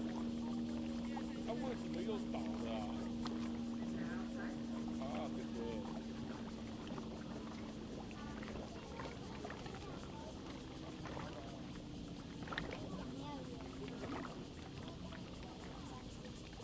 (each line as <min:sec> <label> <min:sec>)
0:00.0 Yacht 0:16.6